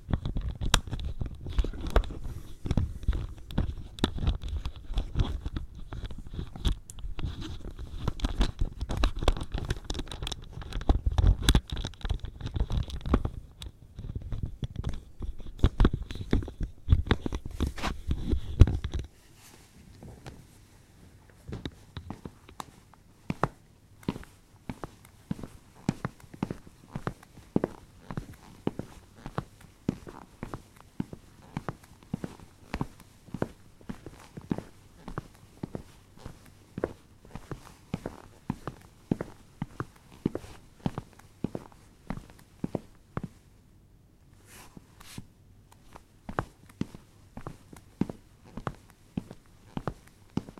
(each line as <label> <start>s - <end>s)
Walking on wooden floor with sport shoes 21.4s - 43.4s
Walking on wooden floor with sport shoes 45.8s - 50.5s